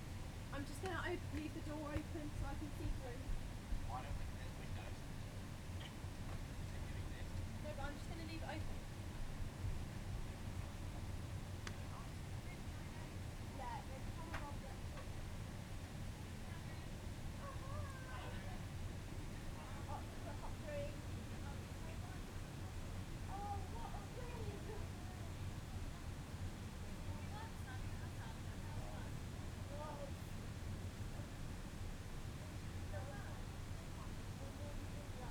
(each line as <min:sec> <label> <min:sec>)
0:00.6 voices 0:03.3